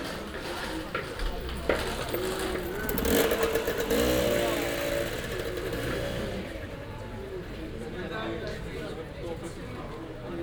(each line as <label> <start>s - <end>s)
unexcited street live 0.2s - 7.8s